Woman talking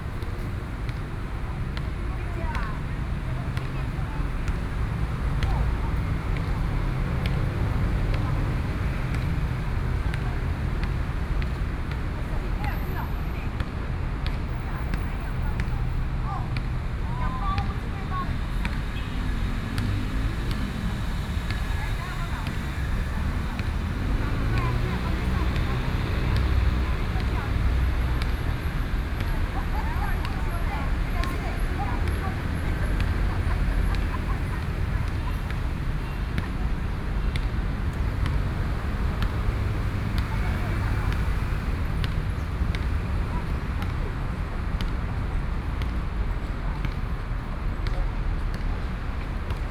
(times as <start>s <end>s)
24.2s 28.3s, 29.2s 35.5s